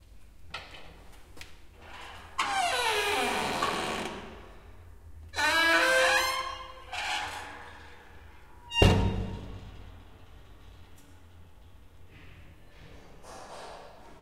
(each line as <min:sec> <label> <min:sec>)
0:01.8 Door open with creak and close 0:14.0
0:08.8 slam 0:09.8